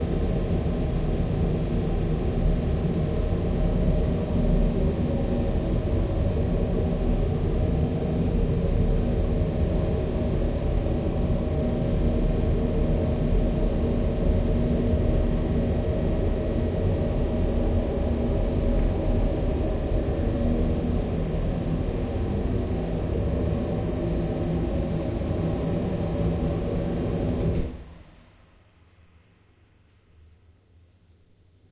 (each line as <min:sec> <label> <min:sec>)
0:00.0 oil burner 0:27.9